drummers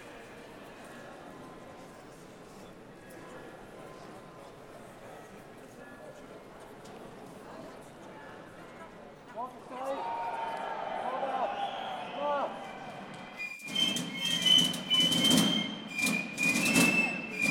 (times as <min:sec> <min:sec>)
0:13.2 0:17.5